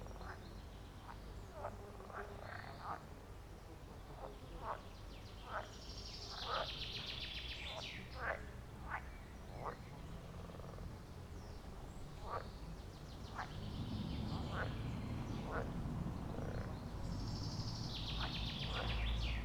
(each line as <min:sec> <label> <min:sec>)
0:00.0 frogs 0:11.1
0:00.0 birds 0:19.4
0:11.7 frogs 0:12.6
0:13.3 frogs 0:19.4